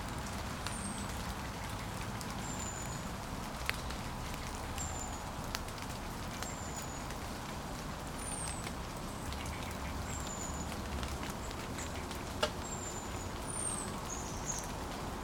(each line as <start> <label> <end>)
0.0 falling rain 15.2